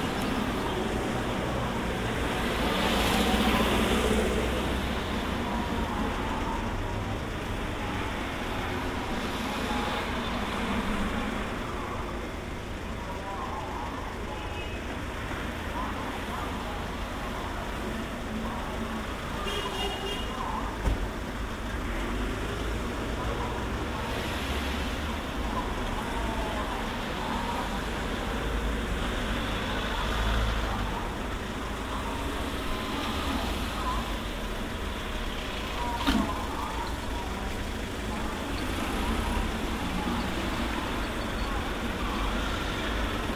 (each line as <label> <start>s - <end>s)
motorcycles 0.0s - 12.1s
fruit truck with a loudspeaker 0.0s - 20.8s
Many cars go by 0.0s - 43.3s
horns honking 19.3s - 20.5s